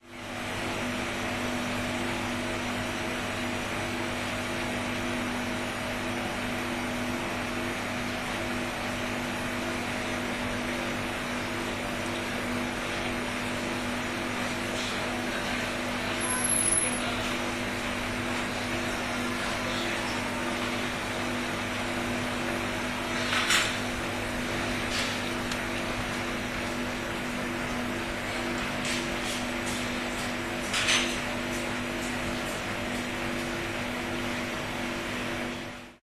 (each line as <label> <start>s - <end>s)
drinks machine 0.2s - 35.9s